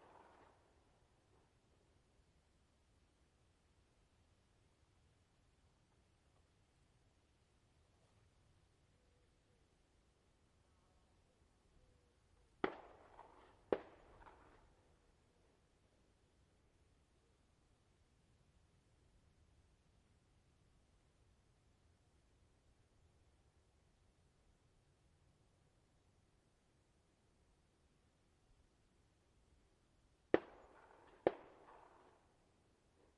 distant army training gunfire with echo 0.0 - 0.7
distant army training gunfire with echo 12.6 - 14.7
distant army training gunfire with echo 30.3 - 32.5

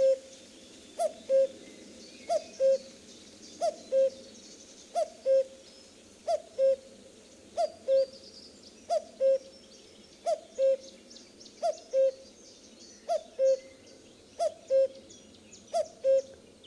Very close common cuckoo 0.0 - 0.3
Very close common cuckoo 1.0 - 3.0
Very close common cuckoo 3.6 - 4.3
Very close common cuckoo 4.9 - 5.6
Very close common cuckoo 6.2 - 6.9
Very close common cuckoo 7.6 - 8.2
Very close common cuckoo 8.9 - 9.6
Very close common cuckoo 10.2 - 11.0
Very close common cuckoo 11.6 - 12.4
Very close common cuckoo 13.0 - 16.4

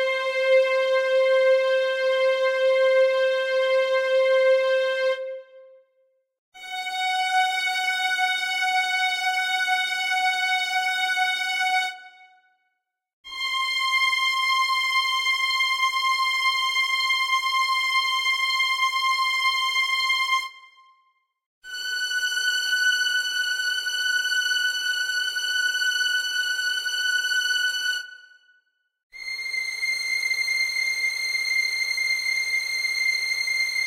string section 0.0 - 5.6
string section 6.6 - 12.2

